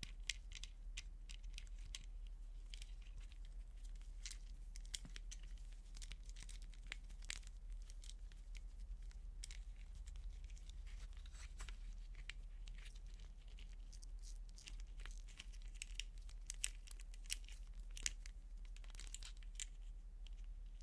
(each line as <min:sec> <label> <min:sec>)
0:00.0 Handling and using a vintage binoculars 0:20.8